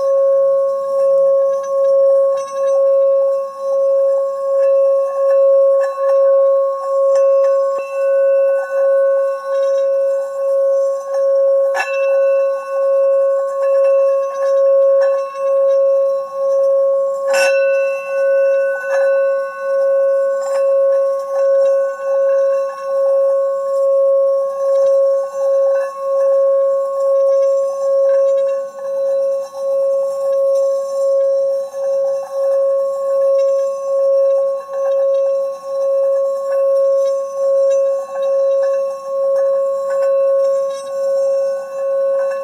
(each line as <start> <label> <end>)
0.0 singing bowl, played around the rim 42.4